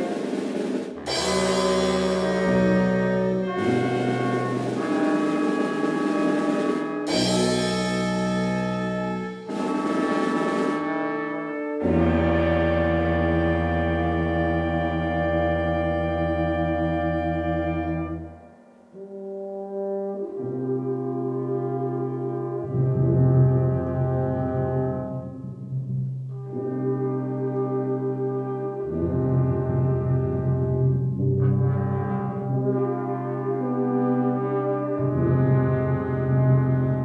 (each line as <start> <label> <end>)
0.0 brass band rehearsal 37.0